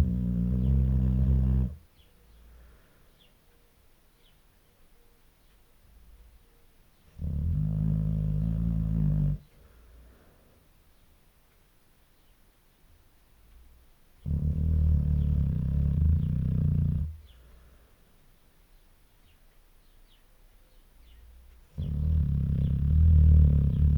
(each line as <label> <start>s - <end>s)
snoring 0.0s - 1.8s
snoring 7.2s - 9.5s
snoring 14.2s - 17.2s
snoring 21.8s - 23.9s